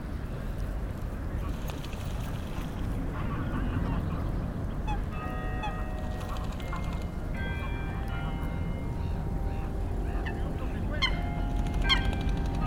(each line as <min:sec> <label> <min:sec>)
0:01.4 Greater White-fronted Goose 0:12.6
0:02.0 Common Moorhen 0:12.6
0:03.6 distant bells 0:12.6